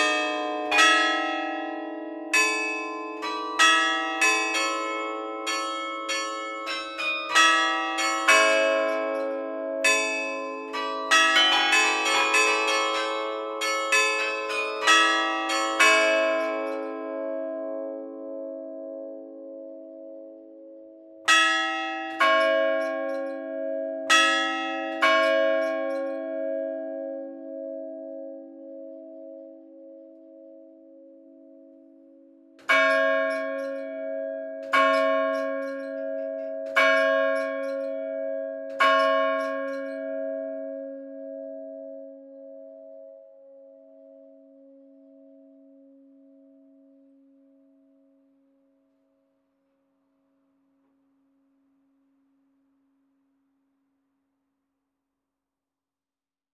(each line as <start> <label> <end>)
0.0 Carillon du beffroi de l'hôtel de ville 31.8
32.6 Carillon du beffroi de l'hôtel de ville 43.1